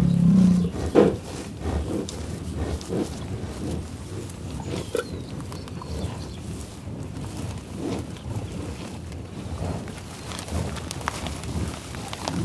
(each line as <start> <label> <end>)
0.0 Buffalos in the tall-grass prairie in Oklahoma, growling, grunting 12.4